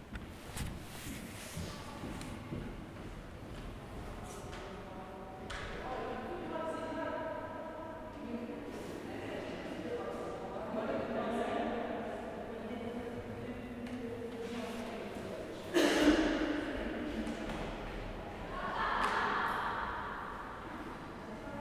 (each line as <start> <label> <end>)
0.1 footsteps 4.4